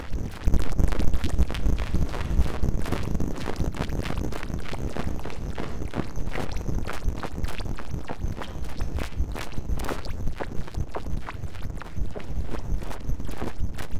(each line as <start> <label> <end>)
0.0 muffy sci-noises 13.9